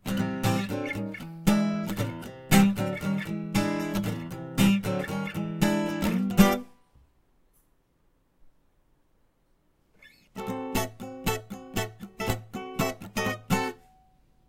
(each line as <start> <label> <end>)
0.0 acoustic guitar 6.8
10.0 acoustic guitar 14.3